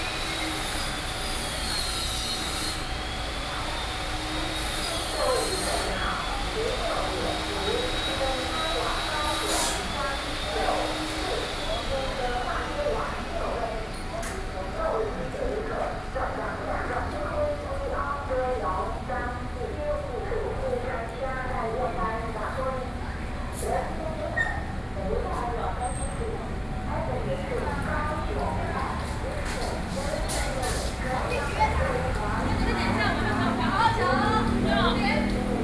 Construction noise 0:00.0 - 0:18.3
Construction noise 0:27.1 - 0:35.6

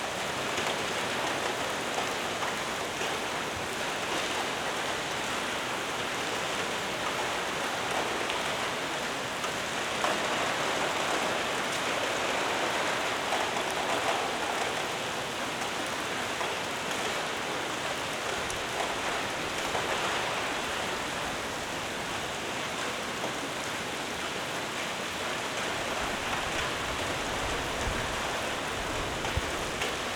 intense rain in hall 0:00.0 - 0:30.1

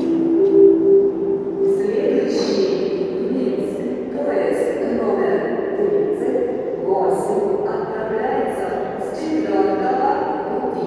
train station announcements 0:00.0 - 0:10.8

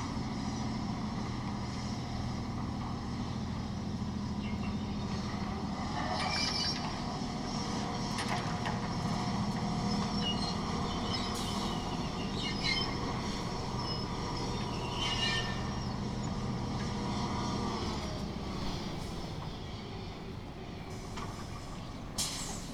excavator unloads a sand barge 0:00.0 - 0:22.7

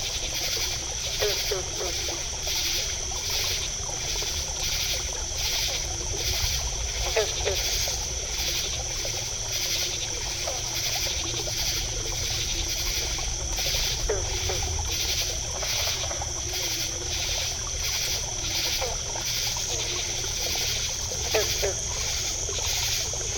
frogs gulp and clatter 0:00.0 - 0:23.3
insects chatter 0:00.0 - 0:23.3
stream exiting a bog softly babbles 0:00.0 - 0:23.3

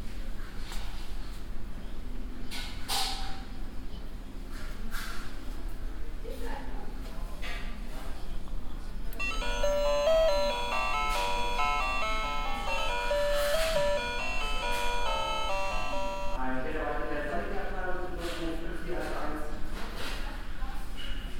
door bells 0:09.2 - 0:16.4

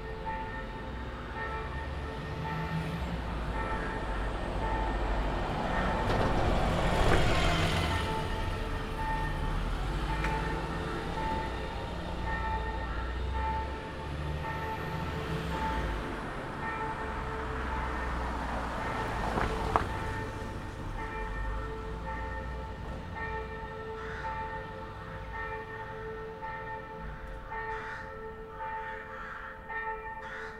church bells 0:00.0 - 0:30.5
Bus and car passing by 0:00.7 - 0:23.2
Crows 0:24.0 - 0:24.5
Crows 0:27.7 - 0:29.6
Crows 0:30.2 - 0:30.5

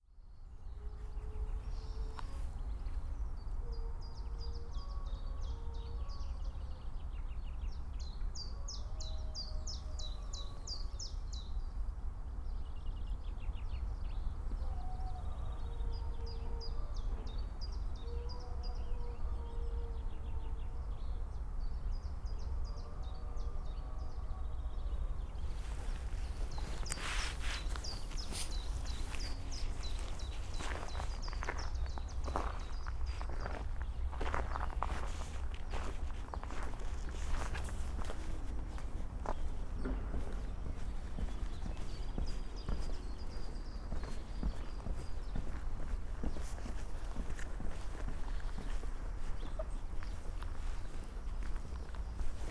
howling dog 0:14.6 - 0:20.8
slow walk 0:25.3 - 0:52.5

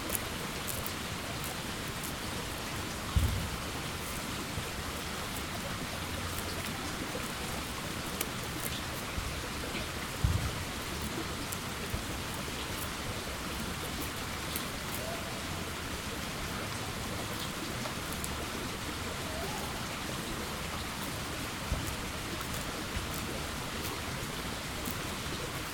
tiny brook 0:00.0 - 0:25.7

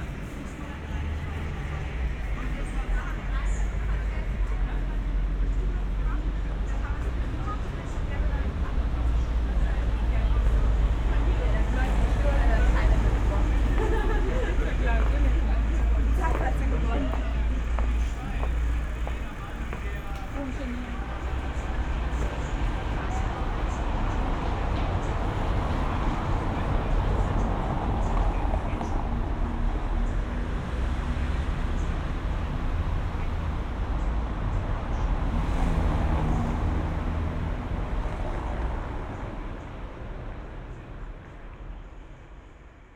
night traffic 0:00.0 - 0:42.9
street nightlife 0:00.0 - 0:42.9

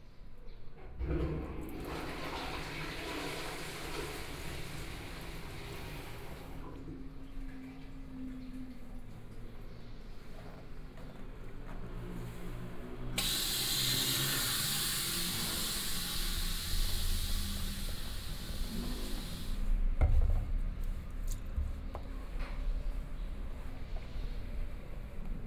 train traveling through 0:11.4 - 0:19.9

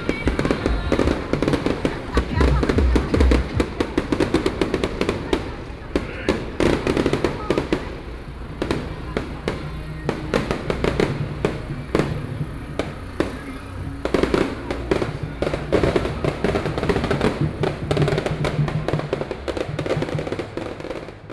firecrackers 0:00.0 - 0:21.3

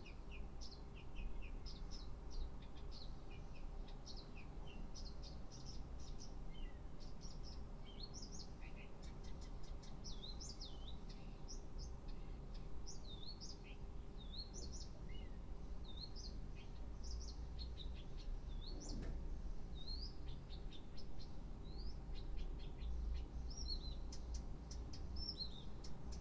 Birds singing in the morning 0:00.0 - 0:26.2

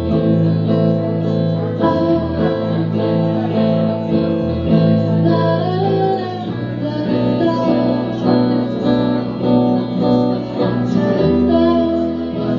girl band 0:00.0 - 0:12.5

